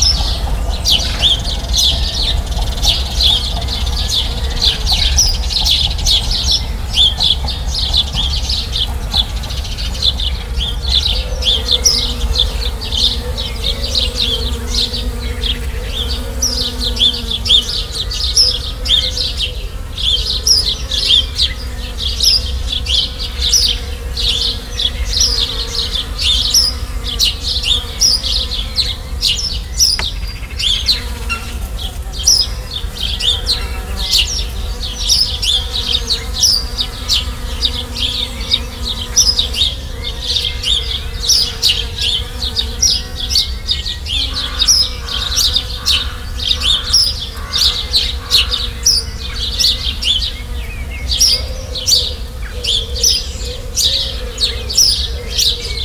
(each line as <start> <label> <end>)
0.0 Bee's buzzing in the bush 55.8
0.0 birds 55.8